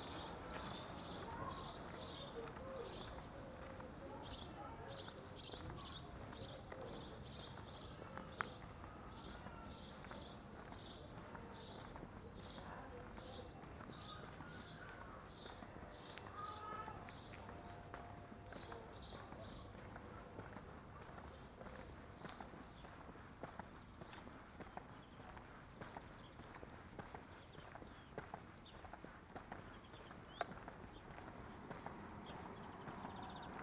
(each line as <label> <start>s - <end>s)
birds 0.0s - 23.1s
my footsteps on the pavement 0.0s - 33.6s
birds 23.7s - 33.6s
cars 30.6s - 33.6s